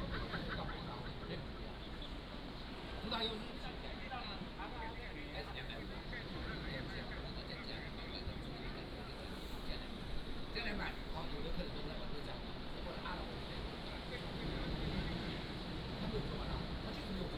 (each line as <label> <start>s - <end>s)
waves 0.0s - 17.3s